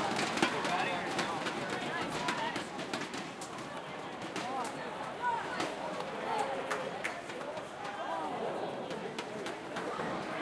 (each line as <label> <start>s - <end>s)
cheering 4.6s - 10.4s